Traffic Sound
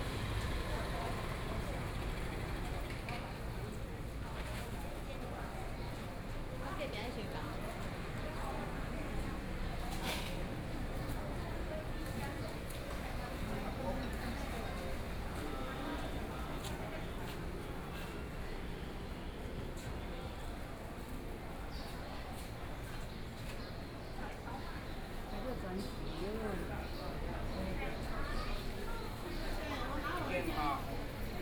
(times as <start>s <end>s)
0.0s 3.2s